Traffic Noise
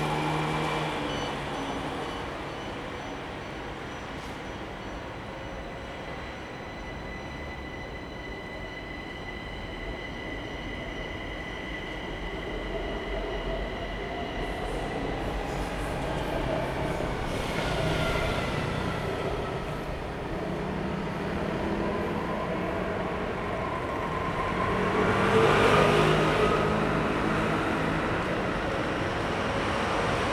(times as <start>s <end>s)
0.0s 4.8s, 14.3s 30.3s